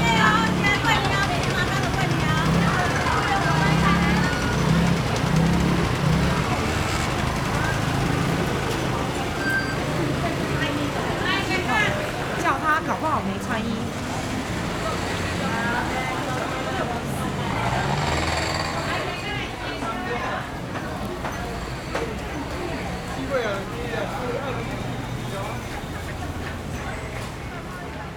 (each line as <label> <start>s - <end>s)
Traffic Sound 0.0s - 28.1s
Walking in the traditional market 0.0s - 28.1s